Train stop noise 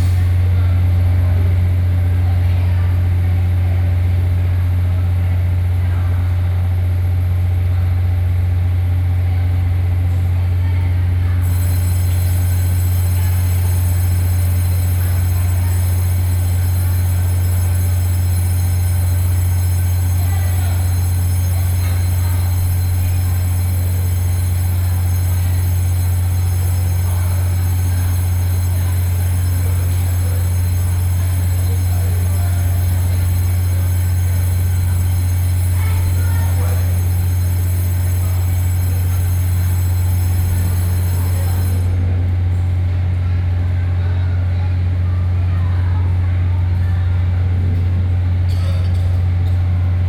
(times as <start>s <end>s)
11.4s 42.8s